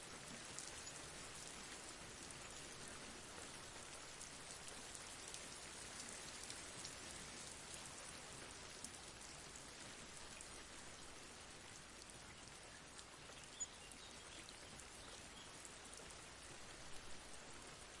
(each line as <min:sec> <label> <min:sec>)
0:00.0 rain 0:18.0